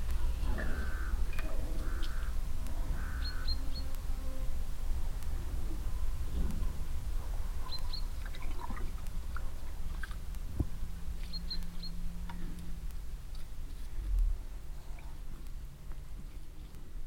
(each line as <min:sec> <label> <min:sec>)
0:00.0 Cows on an open meadow, drinking from a mobile water supply waggon 0:17.0